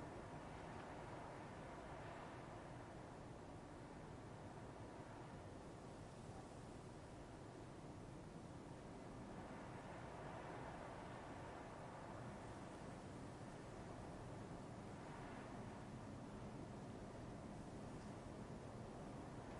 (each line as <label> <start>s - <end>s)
wind 0.0s - 19.5s